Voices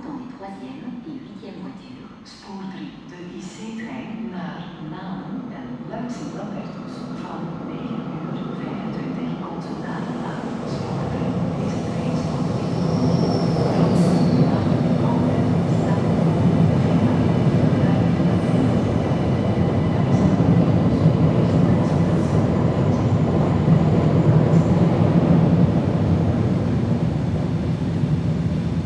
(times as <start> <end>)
2.3 23.4